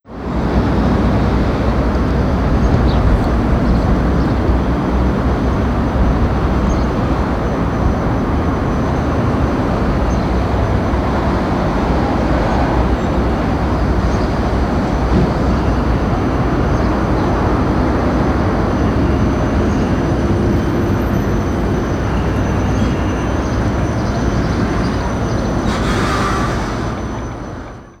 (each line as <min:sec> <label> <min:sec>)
0:00.1 TRAFFIC 0:28.0